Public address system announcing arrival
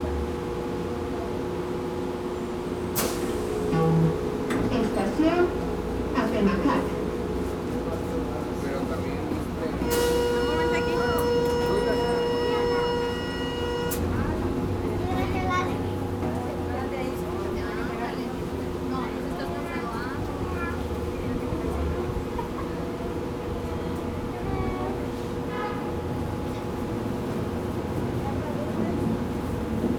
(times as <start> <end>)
3.2 22.0